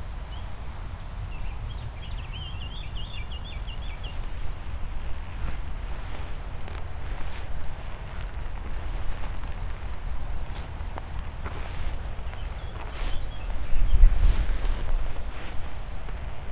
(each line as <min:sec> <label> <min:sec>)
0:00.0 april winds 0:16.5
0:00.1 crickets 0:16.5